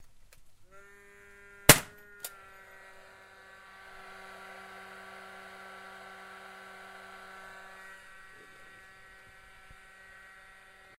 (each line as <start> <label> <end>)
1.7 nail gun firing into open space 2.4